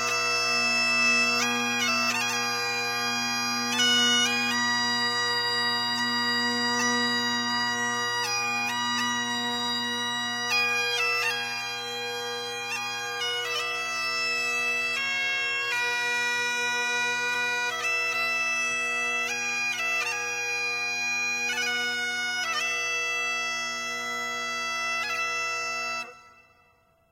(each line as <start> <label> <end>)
0.0 bagpipes 26.8